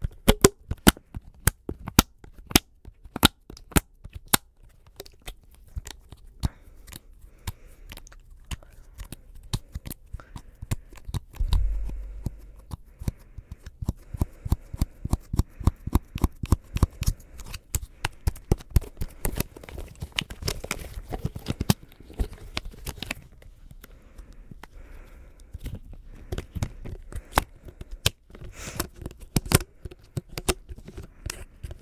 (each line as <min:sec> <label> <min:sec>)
0:11.4 estralando o silicone 0:12.8
0:11.4 mexendo no silicone 0:12.8